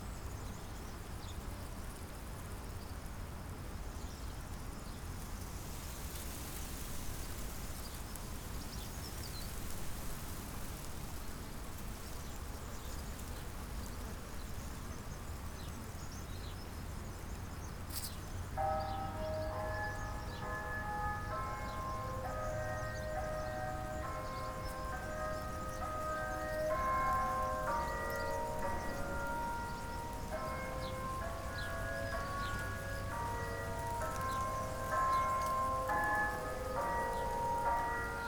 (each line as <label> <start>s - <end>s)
church bells 18.4s - 38.2s